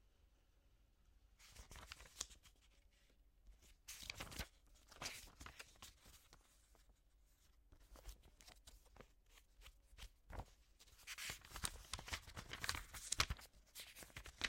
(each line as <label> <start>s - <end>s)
Flipping through book pages 1.4s - 14.4s
handling of book and paper sounds 1.4s - 14.4s